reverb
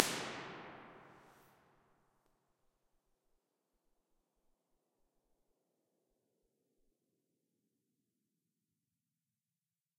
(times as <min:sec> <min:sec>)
0:00.0 0:01.2